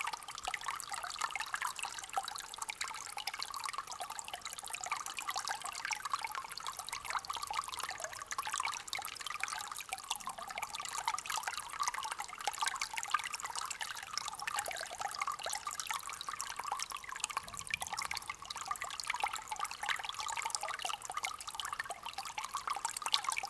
small waterstream 0:00.0 - 0:23.4

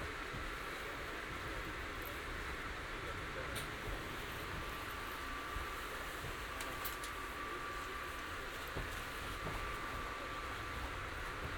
inside arriving train 0:00.0 - 0:11.5

